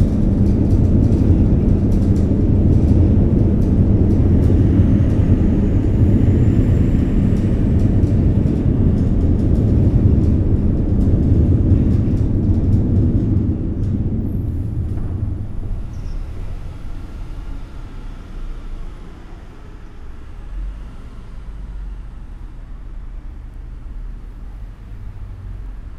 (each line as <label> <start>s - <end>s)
RER trains driving on the bridge just above 0.0s - 25.9s